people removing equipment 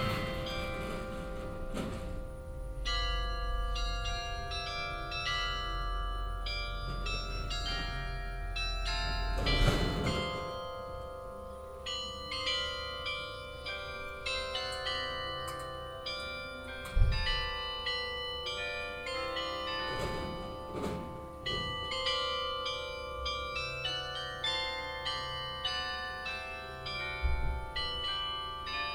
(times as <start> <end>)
0.0 2.3, 9.3 10.6, 19.9 21.8